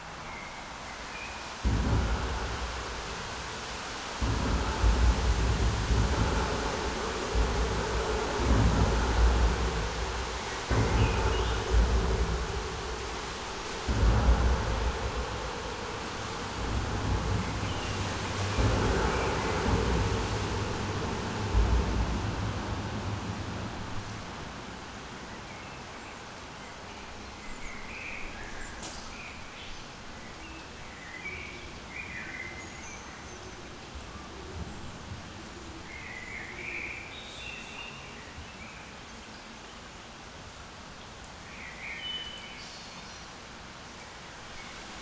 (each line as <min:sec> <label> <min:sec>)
0:00.0 rain 0:45.0
0:01.6 traffic under bridge 0:25.5